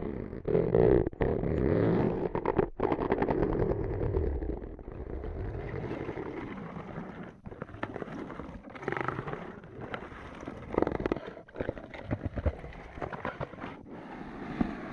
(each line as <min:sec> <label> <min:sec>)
0:13.8 breath 0:14.9